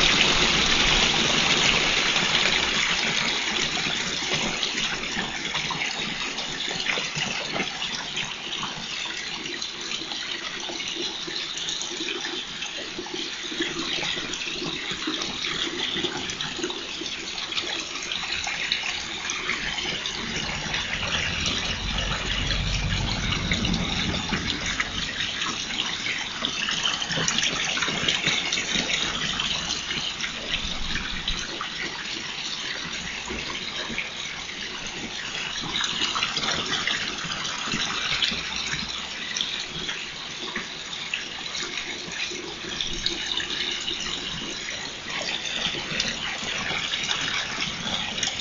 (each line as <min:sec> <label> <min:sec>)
0:00.0 water source 0:48.4